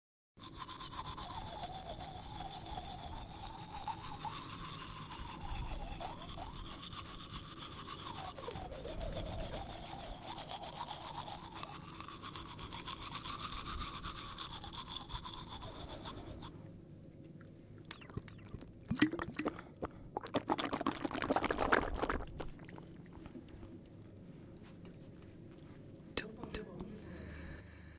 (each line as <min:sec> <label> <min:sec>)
0:00.4 Escova de dente e agua 0:16.6
0:17.2 Escova de dente e agua 0:24.8